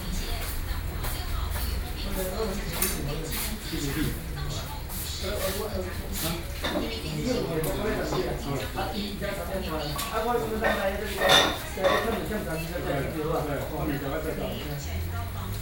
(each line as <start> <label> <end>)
0.0 news on television 15.6
0.0 workers are to discuss the news 15.6